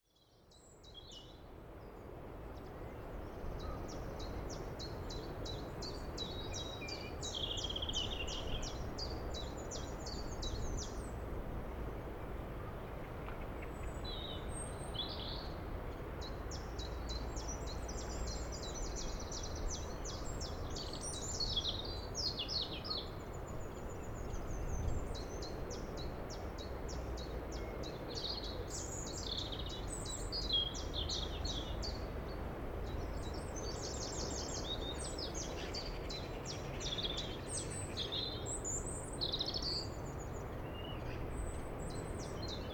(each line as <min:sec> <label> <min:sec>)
0:00.0 Birds 0:42.7
0:01.4 distant Sea 0:42.7